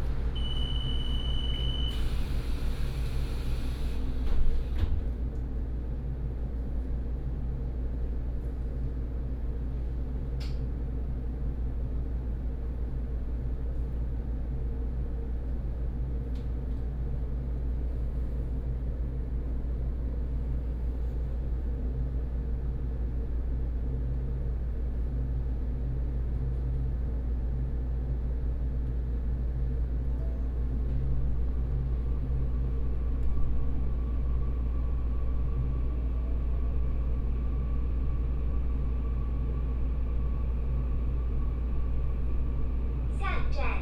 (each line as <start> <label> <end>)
0.0 railway carriage 5.4